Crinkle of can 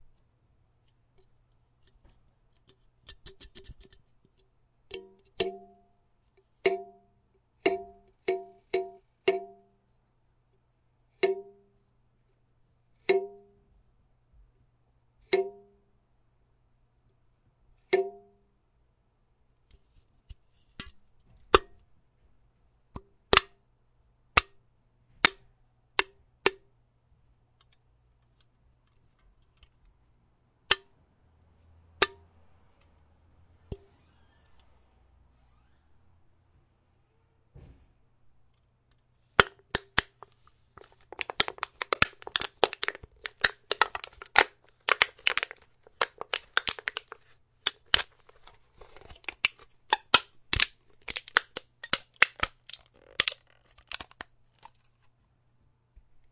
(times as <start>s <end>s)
39.8s 55.2s